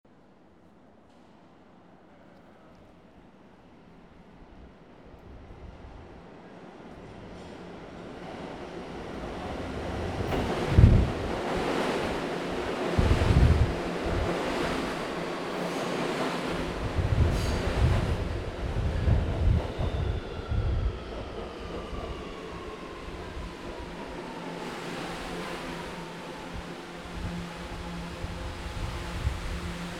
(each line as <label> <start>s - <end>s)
train arriving1 0.1s - 29.9s